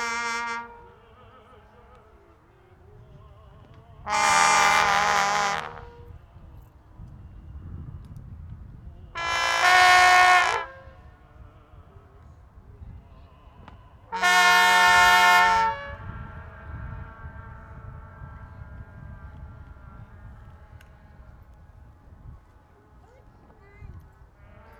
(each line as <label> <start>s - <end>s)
trombones 0.0s - 2.0s
vuvuzelas 0.0s - 6.4s
voices 0.0s - 24.7s
trombones 4.0s - 6.2s
vuvuzelas 9.1s - 11.4s
trombones 9.2s - 11.1s
vuvuzelas 13.9s - 21.4s
trombones 14.1s - 20.7s